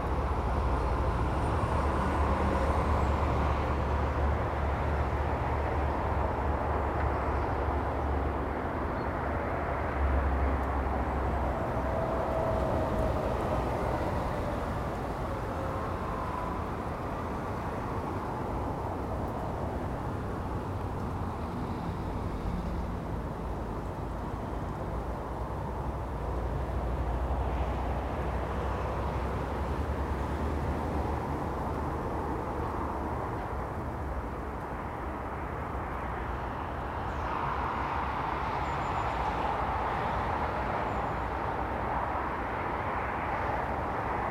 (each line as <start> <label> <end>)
0.0 Traffic slows and speeds 44.3
0.0 cold southerly wind 44.3